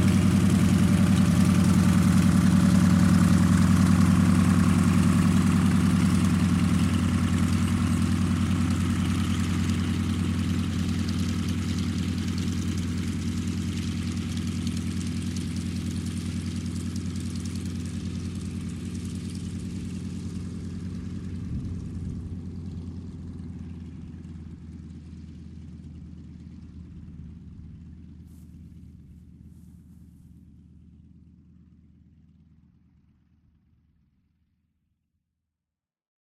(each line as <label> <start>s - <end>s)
START ENGINE 0.0s - 24.9s